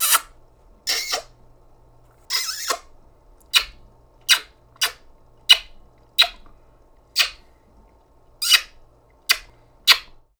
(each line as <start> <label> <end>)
0.0 kiss 0.3
0.9 kiss 1.3
2.3 kiss 2.8
4.3 kiss 5.6